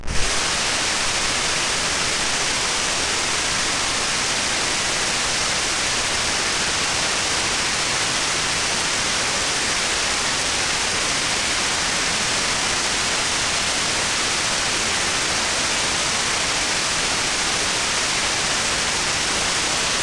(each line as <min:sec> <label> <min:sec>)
0:00.0 white noise sound 0:20.0